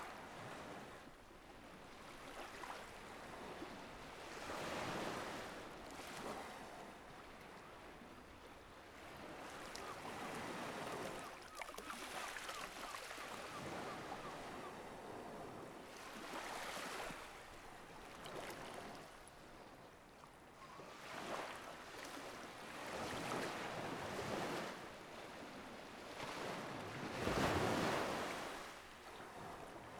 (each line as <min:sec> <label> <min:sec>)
0:02.0 Light surf 0:29.9
0:11.0 Seagulls 0:14.8